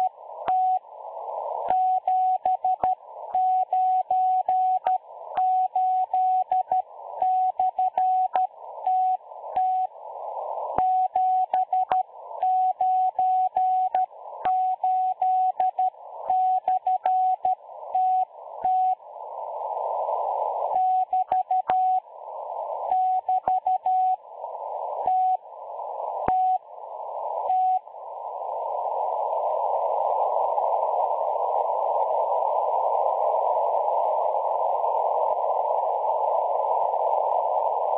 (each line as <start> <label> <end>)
0.0 numbers station broadcasting in Morse code 37.9